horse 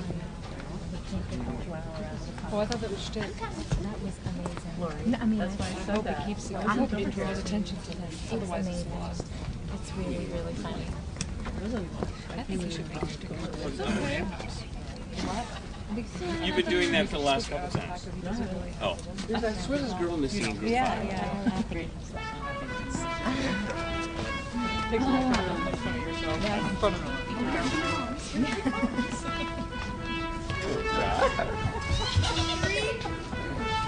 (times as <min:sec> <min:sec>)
0:31.2 0:33.2